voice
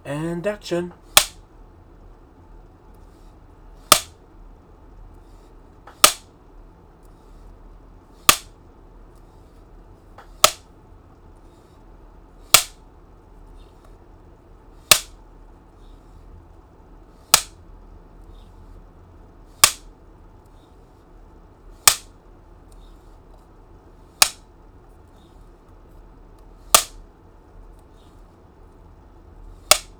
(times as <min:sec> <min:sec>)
0:00.0 0:01.0